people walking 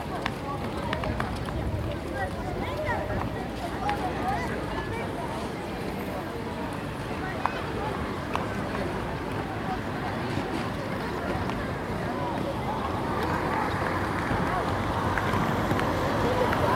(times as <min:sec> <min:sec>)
0:00.0 0:05.2